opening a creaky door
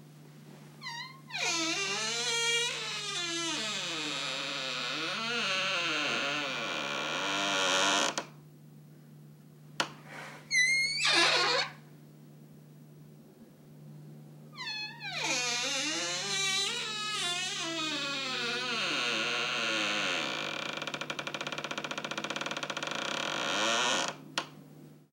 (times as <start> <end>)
0.8 8.3, 10.5 11.8, 14.6 24.5